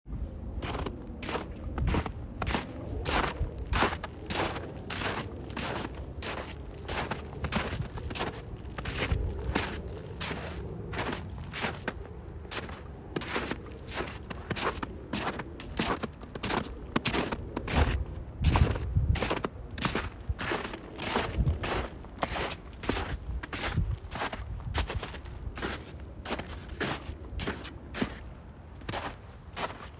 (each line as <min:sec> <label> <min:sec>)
0:00.6 Boots walking through icey and soft snow 0:29.9